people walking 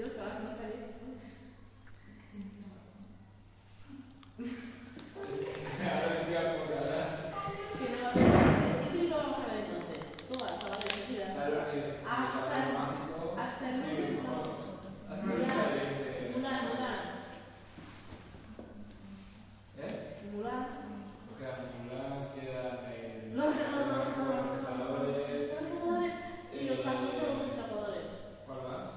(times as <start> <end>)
5.0 6.2